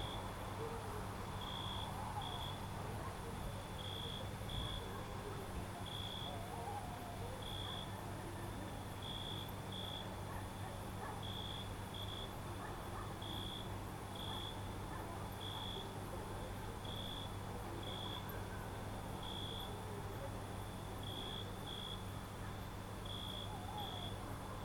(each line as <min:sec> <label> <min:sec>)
0:00.0 people 0:24.6
0:04.8 dogs 0:07.9
0:10.2 dogs 0:11.5
0:12.4 dogs 0:13.6